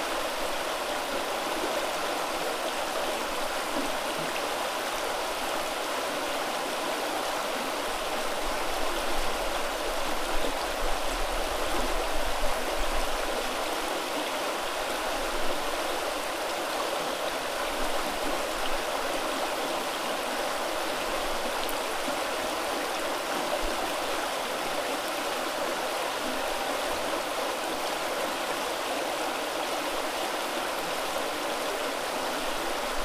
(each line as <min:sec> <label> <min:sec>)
0:00.0 Rapids streams under the train bridge 0:33.0